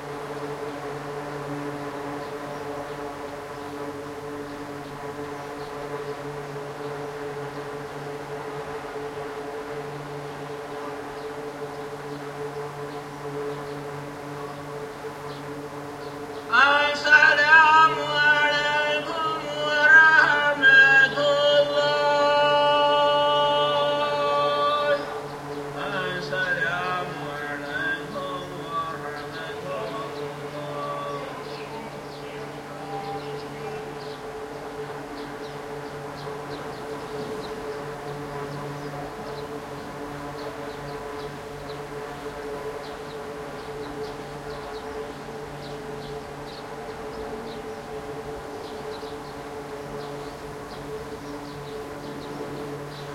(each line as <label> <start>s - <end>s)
background drone sound was produced by an array of misting fans 0.0s - 53.1s
Muslim pray 16.4s - 34.8s